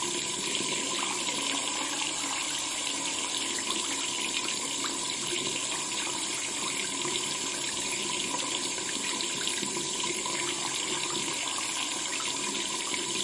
0.0s Water running down the sink 13.2s

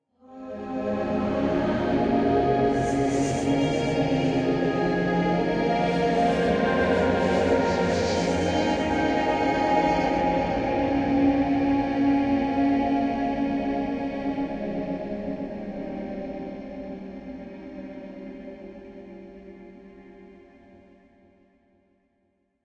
0.2s choirs 20.6s

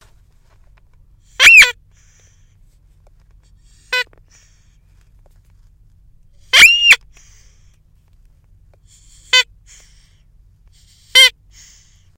1.3s squeeky toy 2.1s
3.6s squeeky toy 4.5s
6.4s squeeky toy 7.4s
8.9s squeeky toy 10.1s
10.8s squeeky toy 11.9s

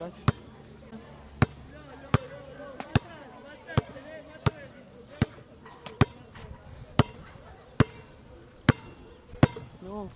0.2s basketball 0.5s
1.3s basketball 9.8s

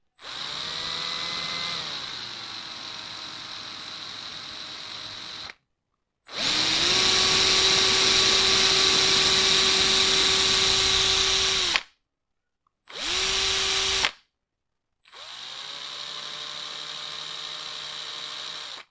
0.2s screwdriver 5.6s
6.3s screwdriver 11.9s
12.9s screwdriver 14.2s
15.1s screwdriver 18.9s

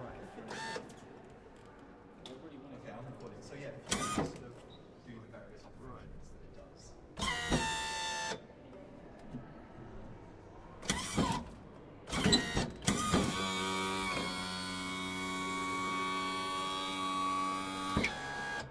3.9s Servo noises 4.4s
7.2s Servo noises 8.4s
10.8s Servo noises 11.5s
12.1s Servo noises 18.7s

